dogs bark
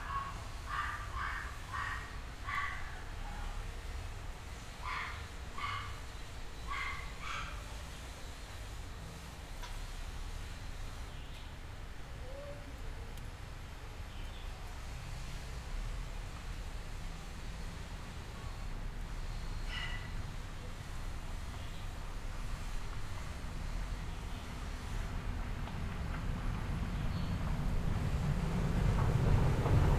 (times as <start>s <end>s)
0.0s 3.6s, 4.8s 7.7s, 19.6s 20.3s